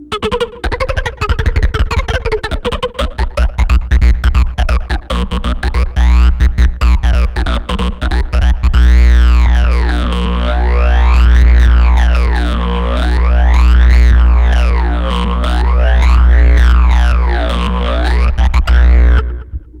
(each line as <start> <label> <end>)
0.0 magnetic fields 19.8